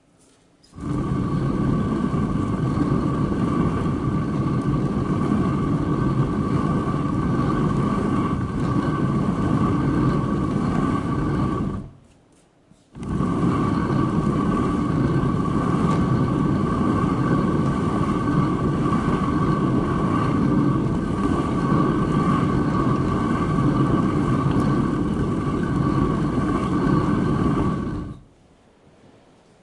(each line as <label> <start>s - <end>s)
rotary quern grinding bere-meal 0.8s - 12.0s
rotary quern grinding bere-meal 13.0s - 28.2s